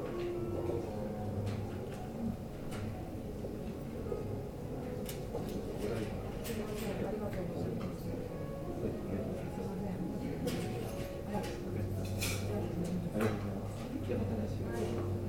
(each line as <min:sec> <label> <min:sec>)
0:00.0 pianist playing live 0:15.2
0:05.4 other people talking 0:15.2